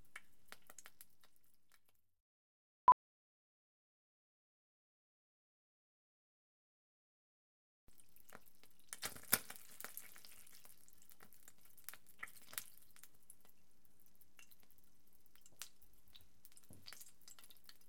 Hot oil in pan 0:00.0 - 0:02.0
Hot oil in pan 0:07.9 - 0:17.8
water 0:07.9 - 0:17.8

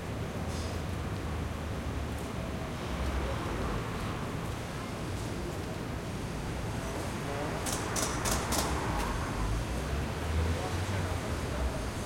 traffic 0:00.0 - 0:12.0

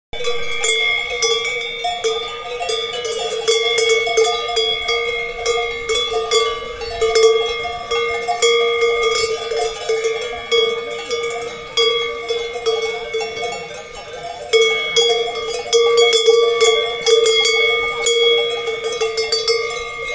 cows bells 0:00.1 - 0:20.1

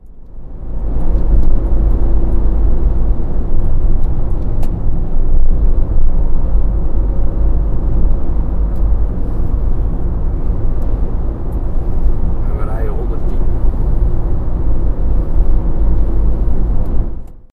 street noise 0:00.0 - 0:17.5
engine 0:00.0 - 0:17.5

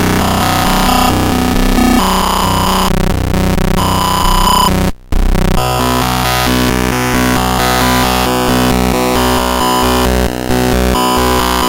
Evolving sound made with glitch machine 0:00.0 - 0:06.6

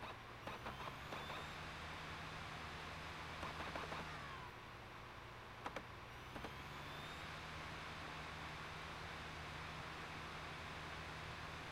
laptop dvd drive reading disc 0:00.0 - 0:01.6
laptop dvd drive reading disc 0:03.4 - 0:04.5

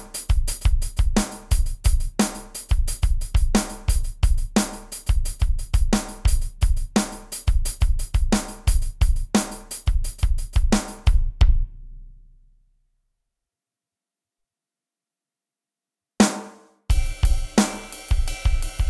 Drum loop in funk-rock style 0:00.0 - 0:11.7
Drum loop in funk-rock style 0:16.2 - 0:18.8

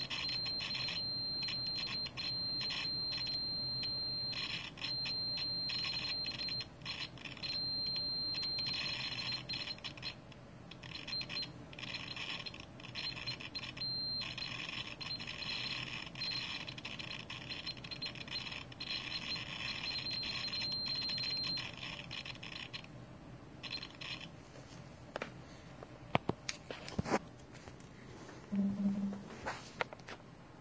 beeping 0:00.0 - 0:22.9
beeping 0:23.6 - 0:24.3

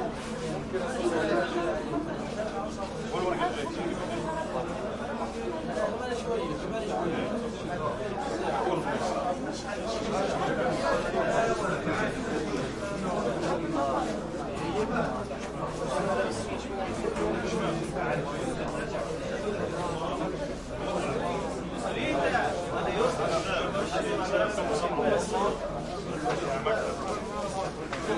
busy arabic voices 0:00.0 - 0:28.1

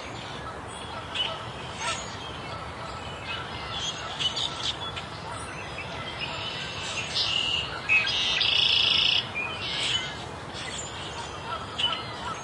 birds chirping 0:00.0 - 0:12.4

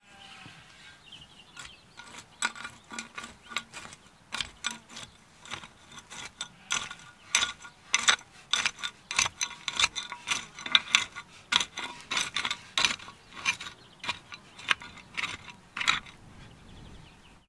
hoeing on a sandy loam (brown earth) containing small stones 0:00.0 - 0:17.4

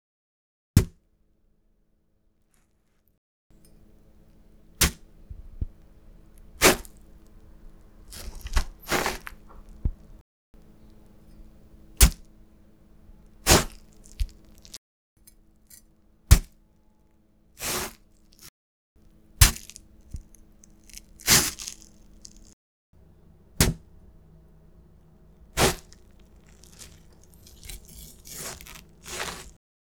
watermelon meat being cut or stabbed with a knife 0:04.8 - 0:05.7
watermelon meat being cut or stabbed with a knife 0:06.4 - 0:07.2
watermelon meat being cut or stabbed with a knife 0:08.0 - 0:10.2
watermelon meat being cut or stabbed with a knife 0:11.9 - 0:12.3
watermelon meat being cut or stabbed with a knife 0:13.4 - 0:14.8
watermelon meat being cut or stabbed with a knife 0:16.3 - 0:16.6
watermelon meat being cut or stabbed with a knife 0:17.6 - 0:18.5
watermelon meat being cut or stabbed with a knife 0:19.4 - 0:29.6

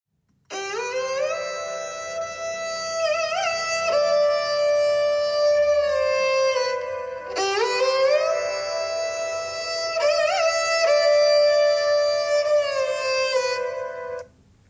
indian string instrument sarangi 0:00.5 - 0:14.4

